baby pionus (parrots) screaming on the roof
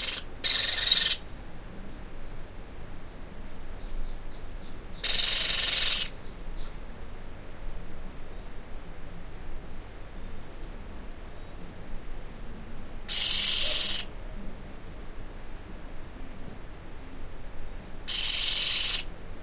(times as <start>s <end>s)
0.0s 1.2s, 5.0s 6.1s, 13.1s 14.1s, 18.1s 19.1s